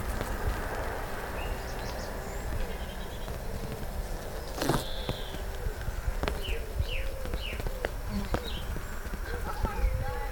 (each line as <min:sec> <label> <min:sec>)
0:07.3 Children playing football 0:10.3